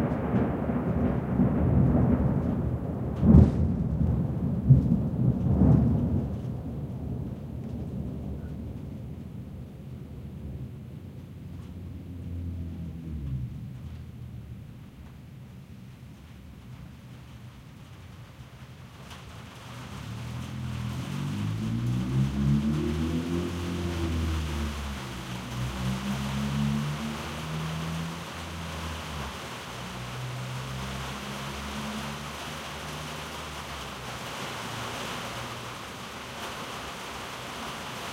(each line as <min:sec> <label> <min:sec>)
0:00.0 strong crack of Thunder 0:09.6
0:00.0 Rain 0:38.1
0:00.0 Wind 0:38.1